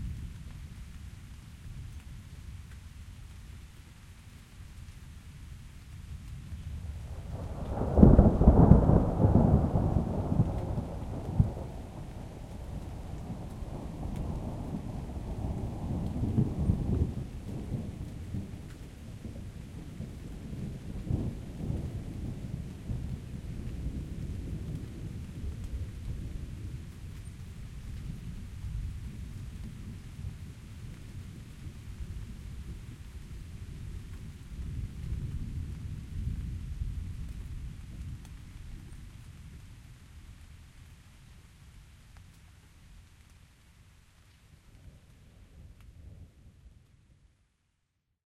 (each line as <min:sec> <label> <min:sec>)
0:00.0 rain 0:48.0
0:06.8 Decent thunder from near by lightning strike 0:26.9